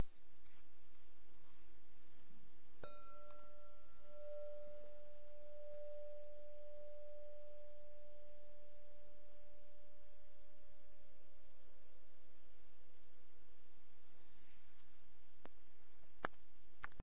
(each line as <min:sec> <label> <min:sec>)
0:02.8 Striking glass bowl with the nail 0:08.4